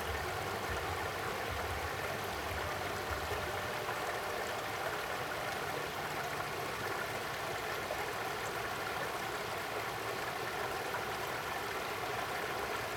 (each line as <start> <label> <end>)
0.0 stream 12.9